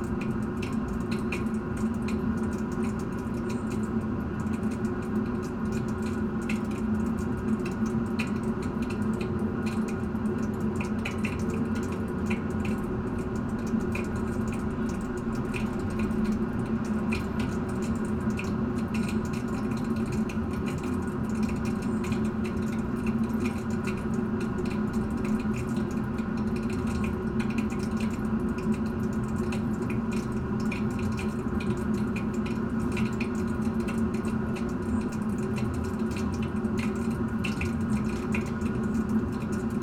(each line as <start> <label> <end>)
0.0 Pipe from municpal heating system 39.8